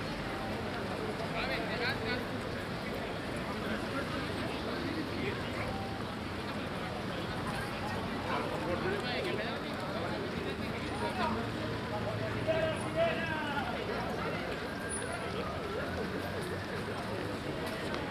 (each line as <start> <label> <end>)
0.0 hundrets of feets running at a city marathon 18.1